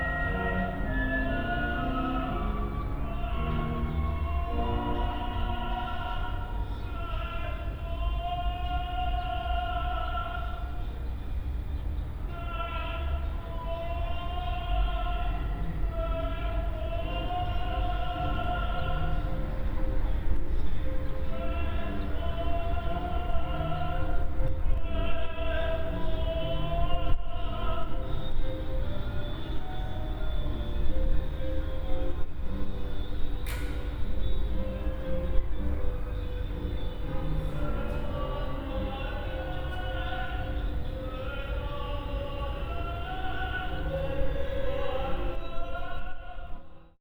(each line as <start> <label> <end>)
0.0 bird song 45.8
0.0 Simultaneous rehearsals before final exams 46.9